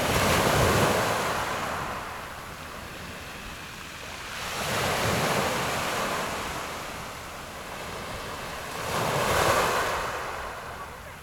0.0s waves 11.2s

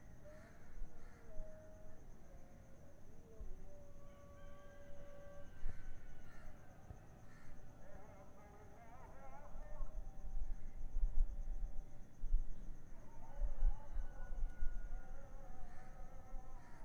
0.0s several muezzin singing in the distance 16.8s

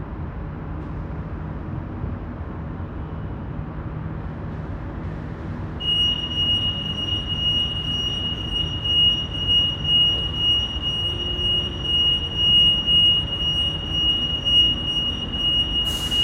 4.2s engine sound 16.2s
4.3s ferry departure 16.2s
5.8s car alarm signs 16.2s

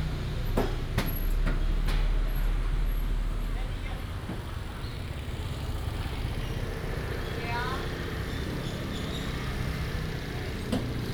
0.0s traffic sound 11.1s

